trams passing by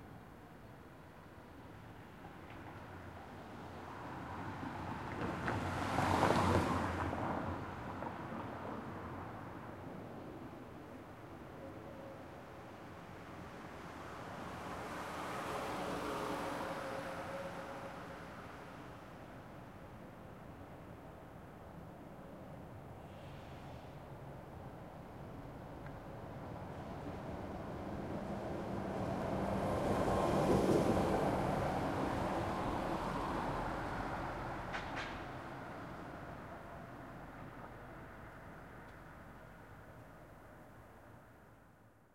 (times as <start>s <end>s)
26.0s 39.7s